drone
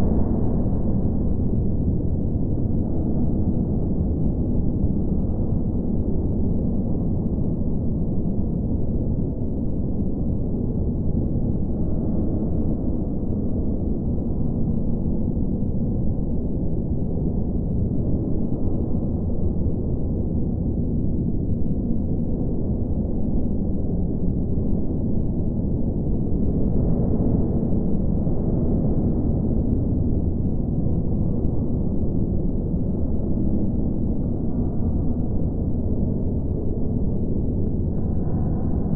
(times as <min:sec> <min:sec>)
0:26.4 0:38.9